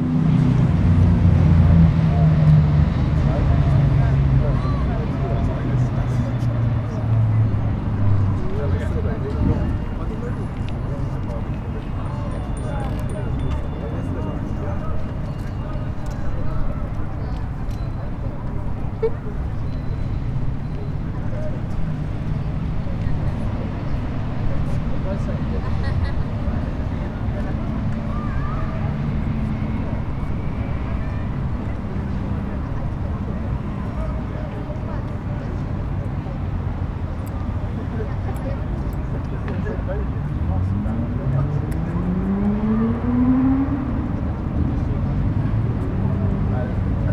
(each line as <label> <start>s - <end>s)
street life 0.0s - 47.1s